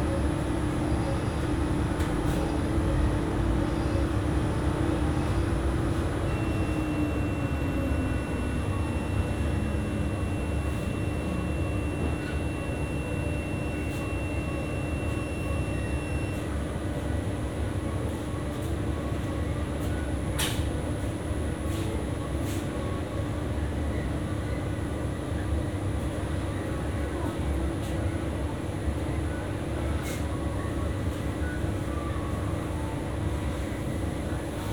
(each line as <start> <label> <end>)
0.0 hum of commercial washing machines 34.7